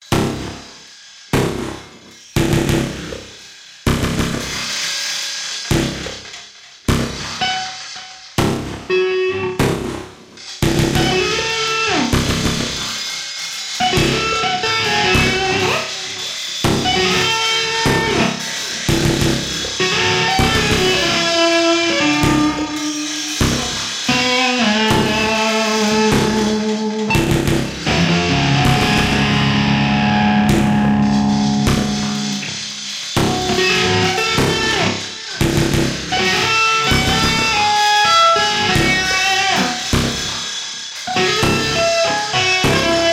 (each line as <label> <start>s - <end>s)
electric guitar 7.0s - 43.1s
electronics 16.6s - 40.4s